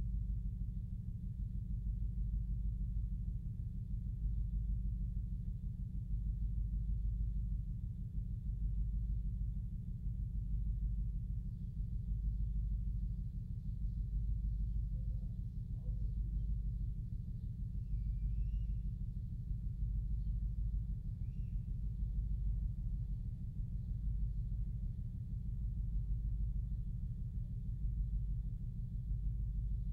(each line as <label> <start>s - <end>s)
Low Bass Pulse 0.0s - 29.9s